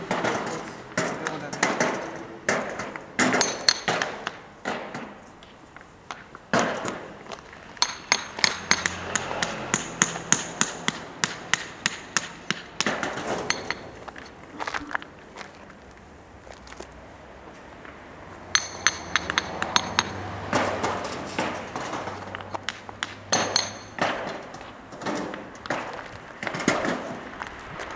puts them on a barrow and unloads on the ground 20.1 - 27.9

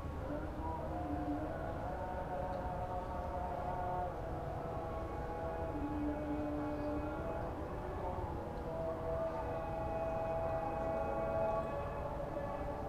chants from very distant prayers 0.0 - 12.8

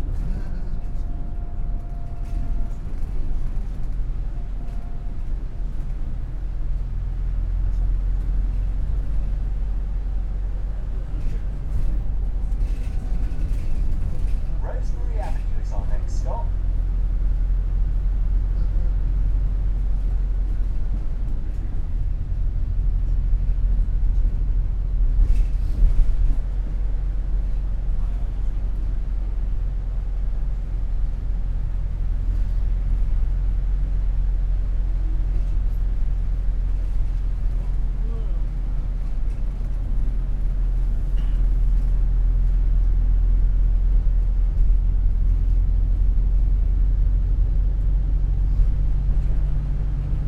bus 0.0 - 50.2
walk into the towncentre 0.0 - 50.2
voices 14.1 - 16.6

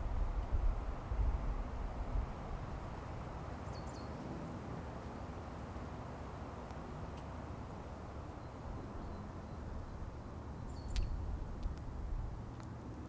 Birds 2.9 - 4.3
Birds 5.0 - 11.8

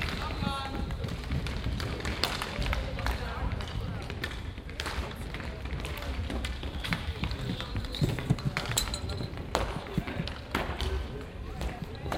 inline skater hockey warmschiessen 0.0 - 12.1

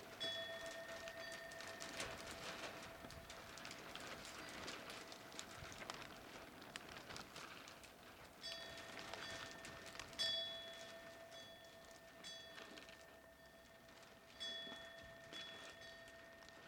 wind chimes that hang from the eaves 0.0 - 6.2
large sheets of plastic 0.0 - 16.6
night wind 0.0 - 16.6
wind chimes that hang from the eaves 8.4 - 16.6

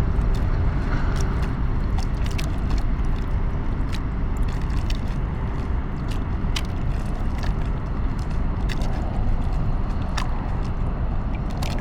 lapping waves 0.0 - 11.8

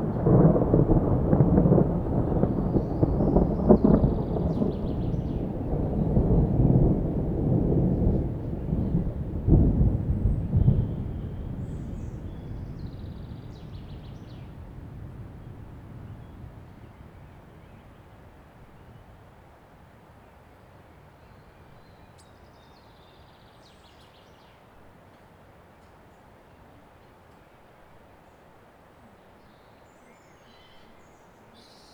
Storm 0.0 - 20.5
Birds 2.0 - 6.7
Birds 10.0 - 14.8
Birds 27.1 - 31.9

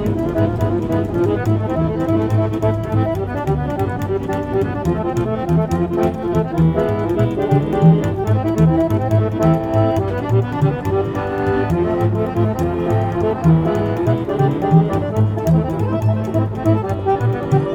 Street band 0.0 - 17.7
pedestrians 0.0 - 17.7

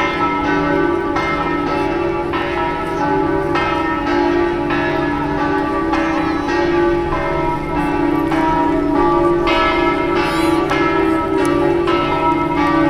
bells of san marco place 0.0 - 12.8

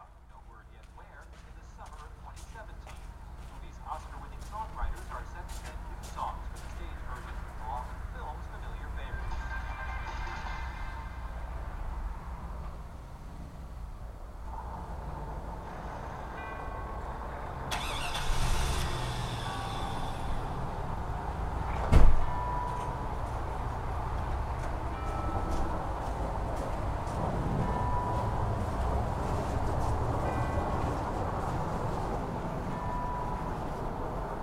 video loop reverberates across the property 0.0 - 16.5
Other vehicles come, refuel and go 0.0 - 34.4

